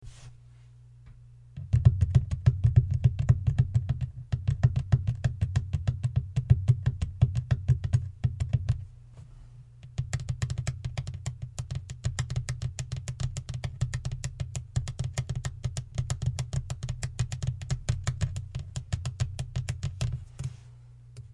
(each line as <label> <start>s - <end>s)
nails tapping of hard surface 1.6s - 8.8s
nails tapping of hard surface 9.8s - 20.2s